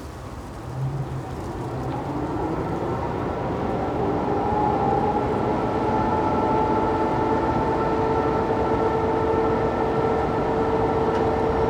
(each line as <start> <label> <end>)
0.0 Coal streaming from the conveyor belts 3.6